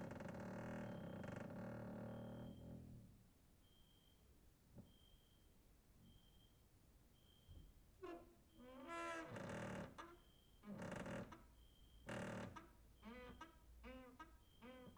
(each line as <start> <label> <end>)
0.0 creaking with wooden doors 2.6
8.0 creaking with wooden doors 14.9